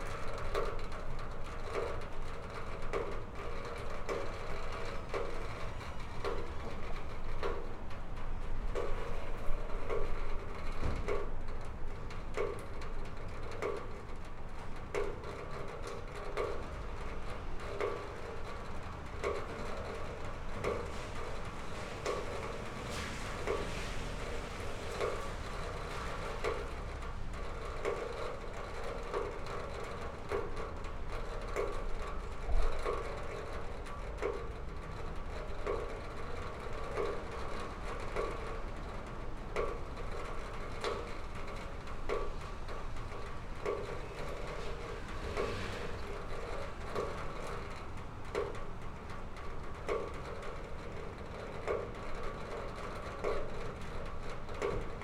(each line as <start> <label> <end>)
20.3 pipe leak 36.1
42.3 tires 48.5